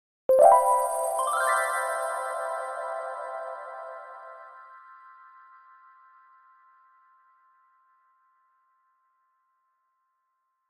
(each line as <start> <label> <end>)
0.3 Magic Sound Effect 3.2